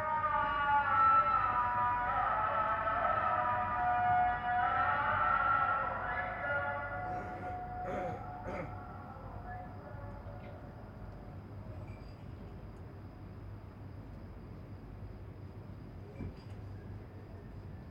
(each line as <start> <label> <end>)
0.0 Muezzin call to prayer 11.3